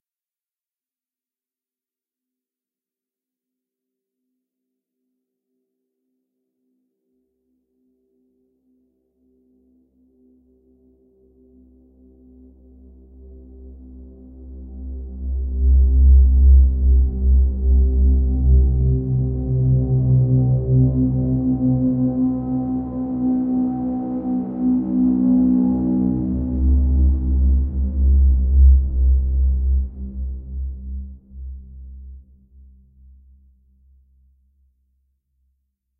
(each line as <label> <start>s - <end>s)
synthetic physically modeled wind drone with lots of harmonics 13.1s - 32.2s